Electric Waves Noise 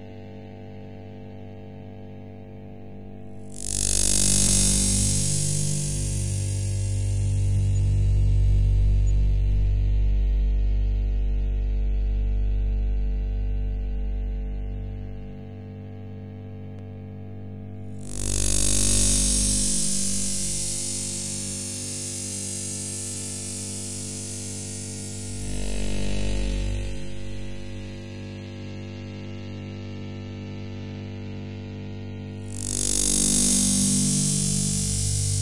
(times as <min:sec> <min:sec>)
0:03.4 0:09.8, 0:18.0 0:28.1, 0:32.4 0:35.4